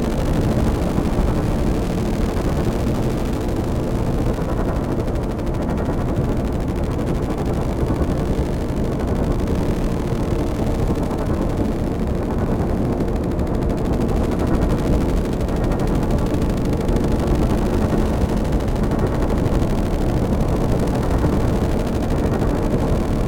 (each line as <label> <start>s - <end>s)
drone 0.0s - 23.2s